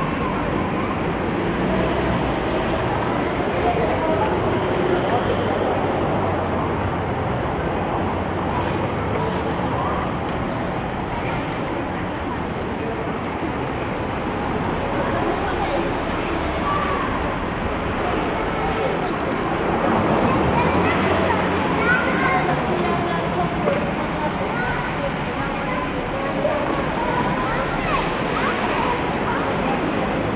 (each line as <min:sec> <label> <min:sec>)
0:00.0 traffic sounds 0:30.3
0:15.0 kids playing 0:23.5
0:24.2 kids playing 0:30.3